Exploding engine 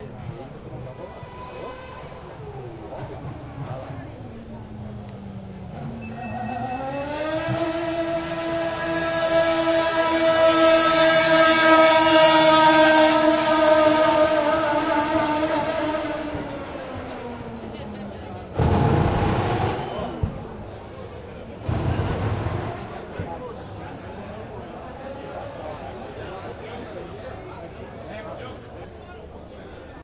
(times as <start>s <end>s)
18.3s 24.0s